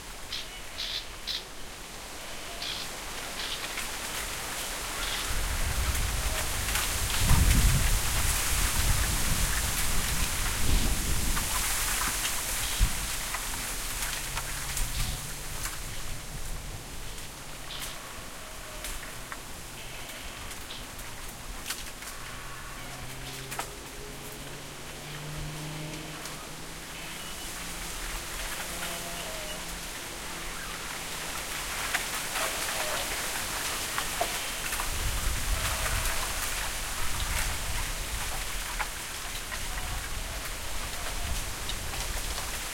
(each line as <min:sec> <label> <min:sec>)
0:00.0 wind 0:42.7